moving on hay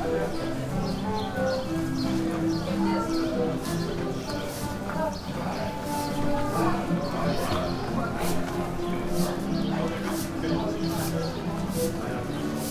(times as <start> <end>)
3.3 4.9, 5.8 12.7